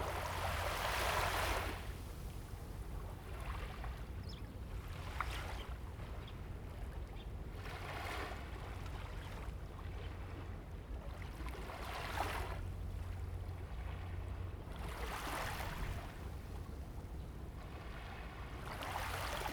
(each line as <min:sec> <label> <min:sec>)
0:00.0 waves 0:19.5